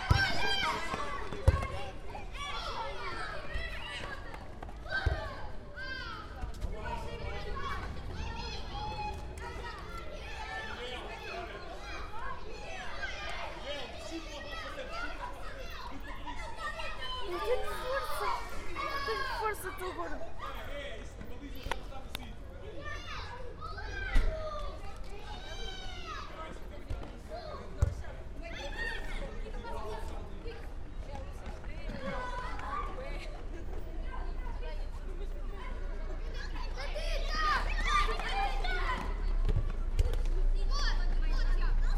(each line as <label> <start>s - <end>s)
Kids playing football 0.0s - 41.9s